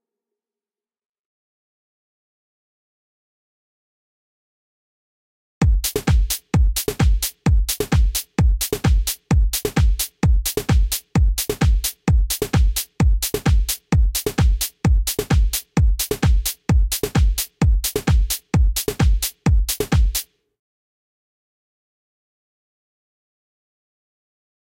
5.6s kick 20.2s
5.6s hat 20.3s
5.9s snare 20.4s

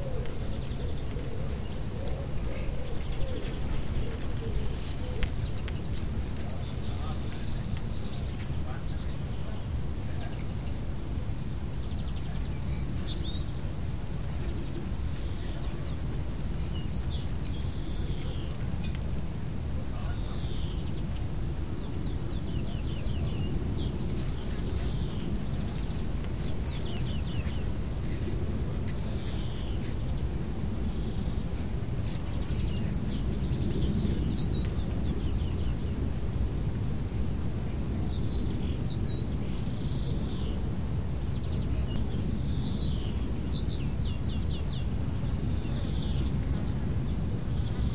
0.0s Birds 47.9s
0.0s light wind in the corn 47.9s

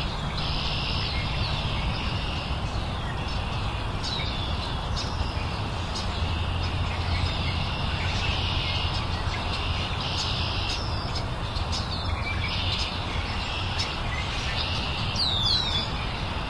0.0s constant underlying noise 16.4s
0.0s many birds 16.4s

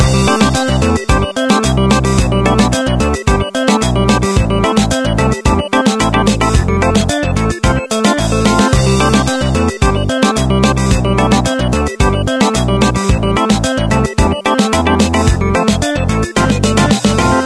0.0s music 17.4s

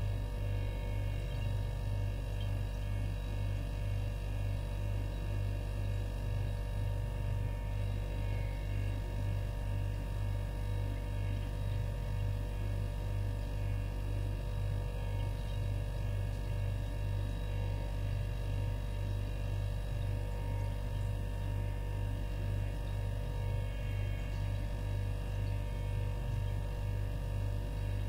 0.0s refrigerator 28.0s

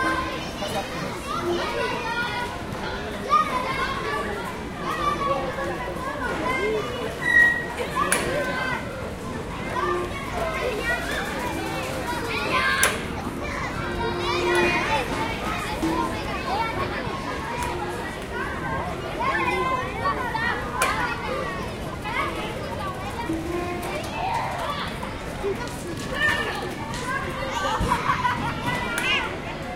0.0s children playing 29.7s

